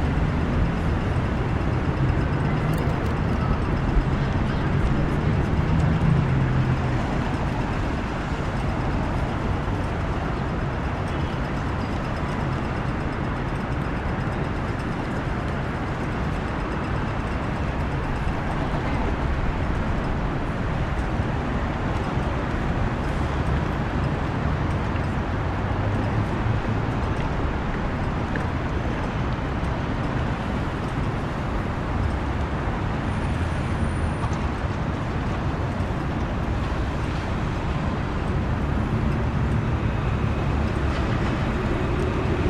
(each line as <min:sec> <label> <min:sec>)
0:00.0 busy intersection 0:42.4